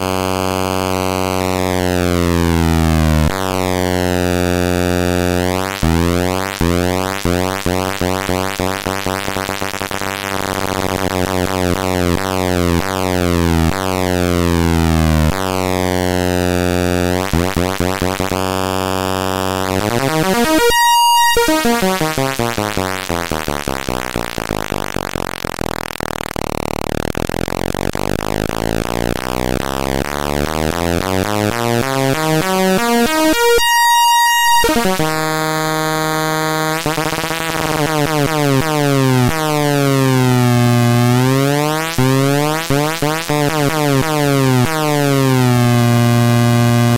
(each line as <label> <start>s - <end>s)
freshly built Atari Punk Console 0.0s - 46.9s